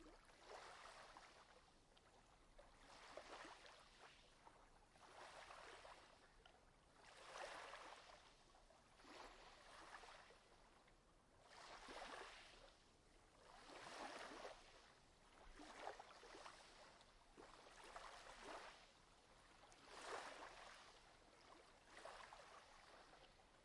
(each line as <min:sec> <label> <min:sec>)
0:00.0 waves 0:23.6